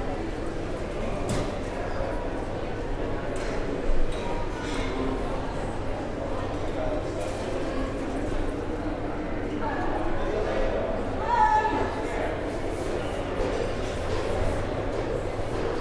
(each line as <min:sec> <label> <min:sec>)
0:00.0 din of many people in a large, reflective space 0:15.8